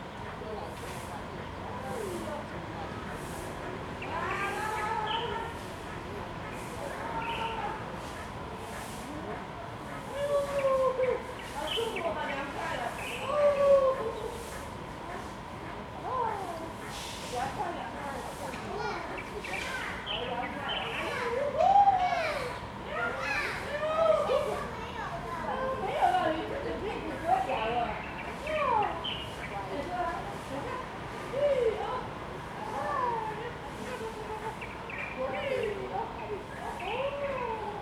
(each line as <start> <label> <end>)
17.4 Children and the elderly 37.8